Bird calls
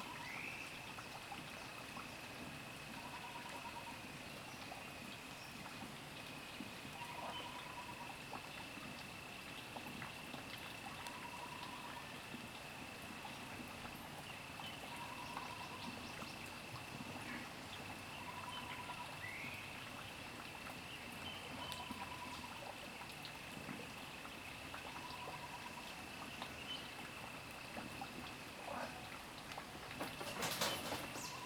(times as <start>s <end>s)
30.2s 31.4s